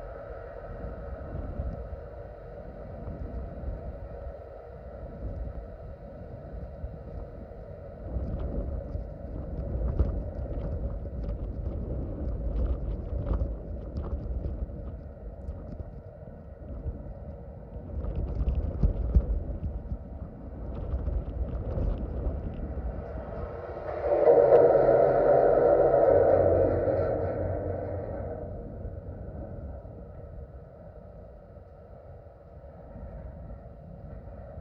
22.9s bridge 30.2s

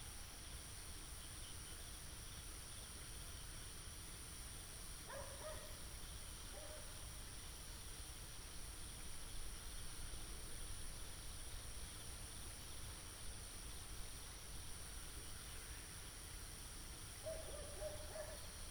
0.0s Insects 18.7s
14.8s Frogs 18.7s

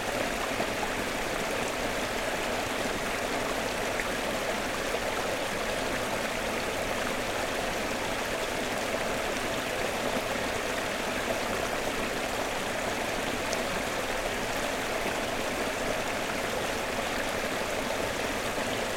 0.0s stream 18.9s

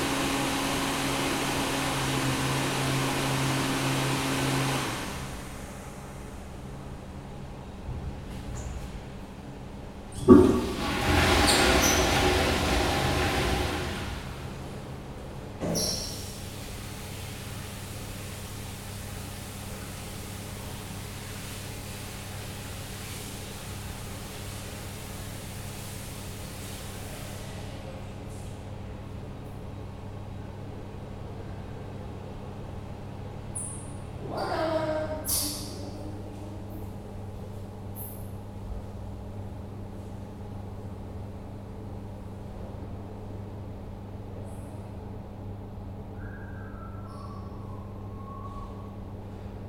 0.0s flushing water 5.9s
10.2s flushing water 15.1s
46.1s whistling guy 49.0s

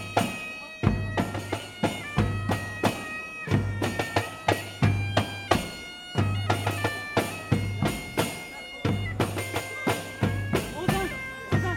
0.0s wedding march bagpipe version 11.7s

